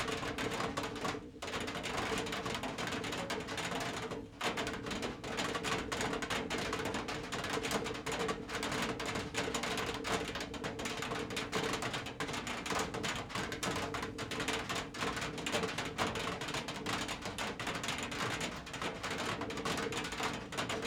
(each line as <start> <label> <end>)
0.0 raindrops on balcony 20.8